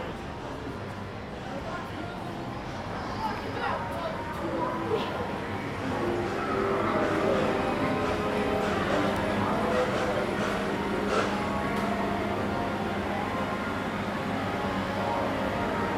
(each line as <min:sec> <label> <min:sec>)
0:04.4 video game arcade 0:15.9